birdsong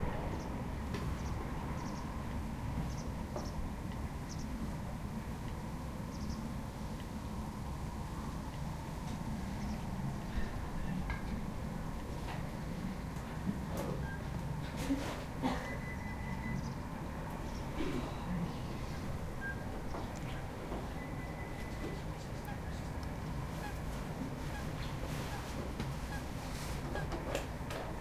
0.3 2.1, 2.8 3.6, 4.2 4.6, 6.1 6.5, 9.5 11.0, 15.6 23.8

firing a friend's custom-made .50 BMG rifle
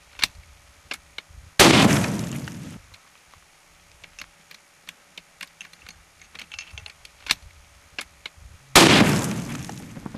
1.6 2.8, 8.8 10.1

